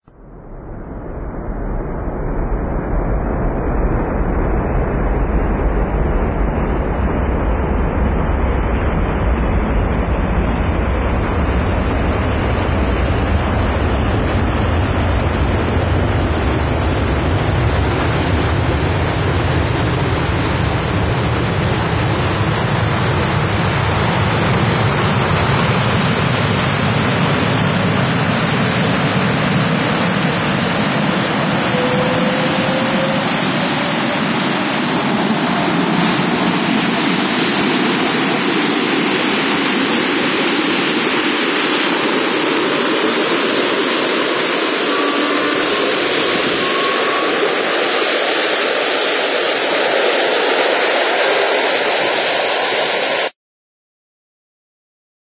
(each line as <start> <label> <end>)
31.0 electronic sound 36.5